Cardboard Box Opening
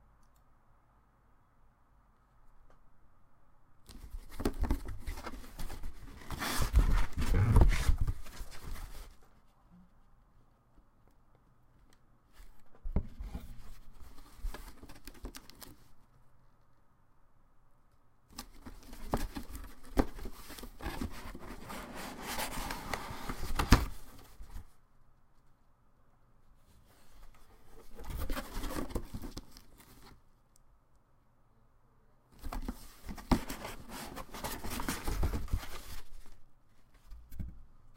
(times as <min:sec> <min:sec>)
0:04.2 0:09.1, 0:18.4 0:24.4, 0:27.7 0:30.2, 0:32.4 0:36.3